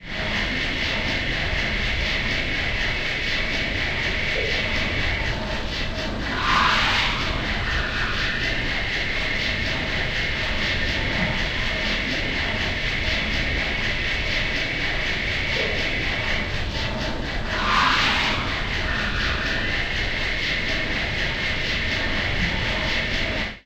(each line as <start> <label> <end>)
0.0 factory sound 23.6